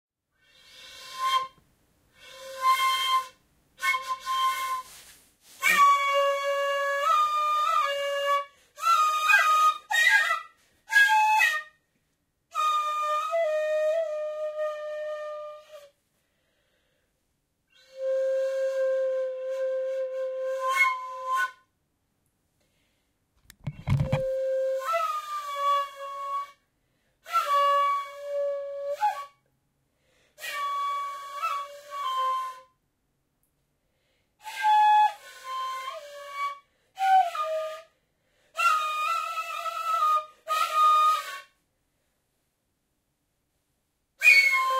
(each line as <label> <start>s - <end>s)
Asian Flute 0.4s - 11.9s
Asian Flute 12.5s - 16.0s
Asian Flute 17.7s - 21.8s
Asian Flute 23.7s - 29.5s
Asian Flute 30.3s - 32.8s
Asian Flute 34.4s - 41.6s
Asian Flute 44.2s - 44.7s